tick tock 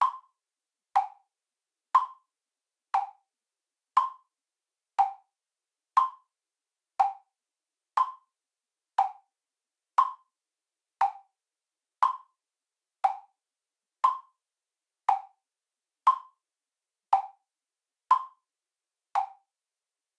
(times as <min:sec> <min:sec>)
0:00.0 0:00.3, 0:01.0 0:01.2, 0:02.0 0:02.3, 0:02.9 0:03.2, 0:03.9 0:04.3, 0:05.0 0:05.3, 0:06.0 0:06.3, 0:07.0 0:07.3, 0:08.0 0:08.3, 0:09.0 0:09.3, 0:10.0 0:10.3, 0:11.0 0:11.3, 0:12.0 0:12.3, 0:13.0 0:13.3, 0:14.0 0:14.4, 0:15.0 0:15.4, 0:16.1 0:16.4, 0:17.1 0:17.4, 0:18.1 0:18.4, 0:19.1 0:19.4